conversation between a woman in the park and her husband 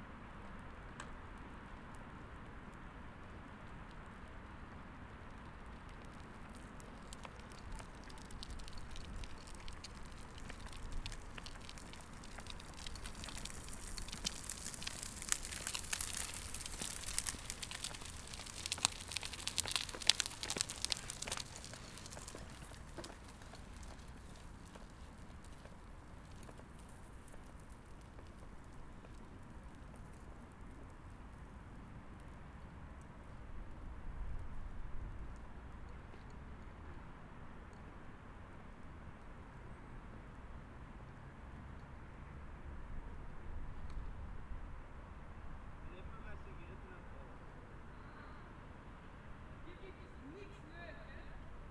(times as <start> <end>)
45.8 51.4